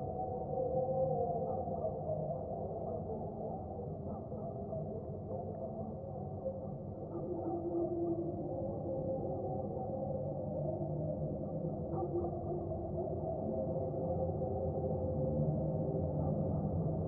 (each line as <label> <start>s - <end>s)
Echoes from midnight church mass 0.0s - 17.0s